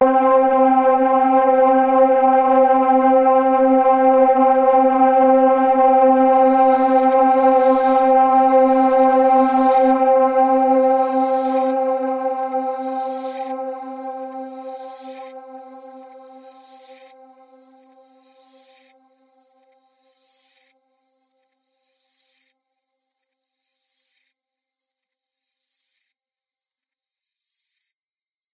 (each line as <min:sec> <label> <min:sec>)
0:00.0 synth pad 0:18.0